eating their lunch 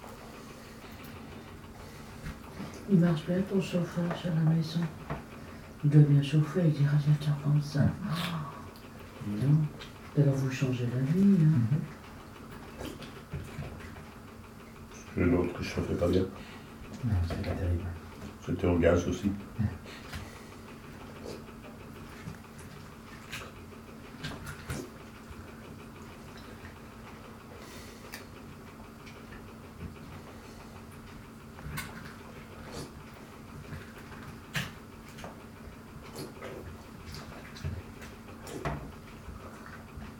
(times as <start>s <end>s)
19.1s 40.1s